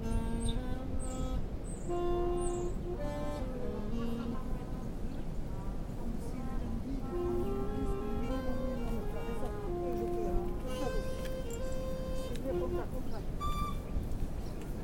trumpet 0:00.0 - 0:05.0
sax 0:06.1 - 0:14.0
trumpet 0:06.1 - 0:14.2

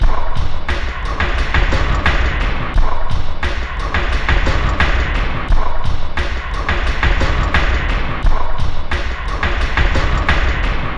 Drum Loop 0:00.0 - 0:10.9

